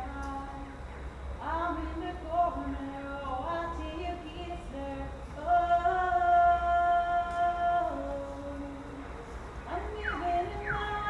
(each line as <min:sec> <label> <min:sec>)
0:00.0 woman singing on a balcony 0:11.0